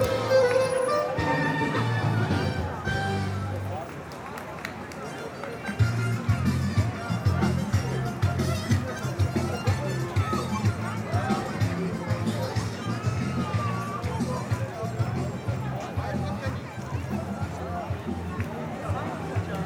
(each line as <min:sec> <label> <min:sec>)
0:05.8 people go out on evening and talk to each other’s 0:19.6